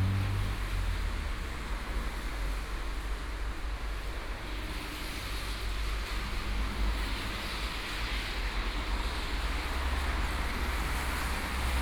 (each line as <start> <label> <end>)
0.0 Traffic 4.0
8.5 Traffic 11.8